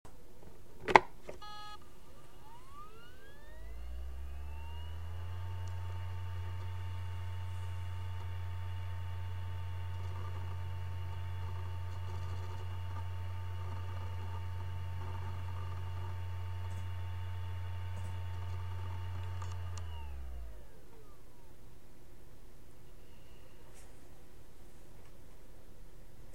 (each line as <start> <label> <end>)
1.3 external harddrive start+stop 21.6